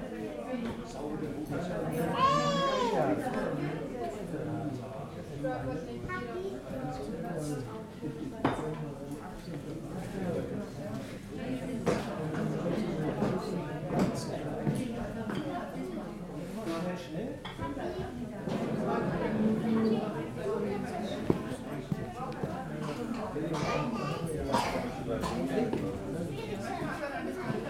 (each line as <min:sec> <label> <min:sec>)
0:00.0 people sitting and talking german 0:27.6